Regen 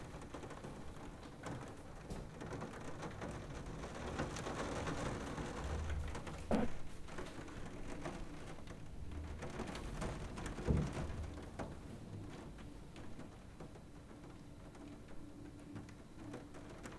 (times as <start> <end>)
6.4 7.2